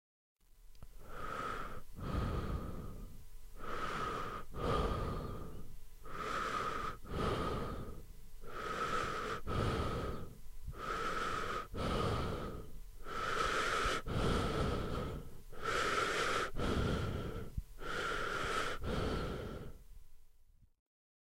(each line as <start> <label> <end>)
0.9 male breaths in and out 19.9